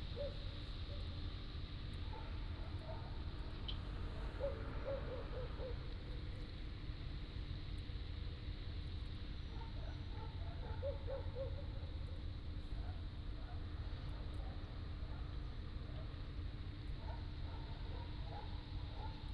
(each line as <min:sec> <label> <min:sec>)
0:02.1 Dogs barking 0:03.2
0:04.2 Dogs barking 0:05.9
0:09.5 Dogs barking 0:12.0
0:17.0 Dogs barking 0:19.3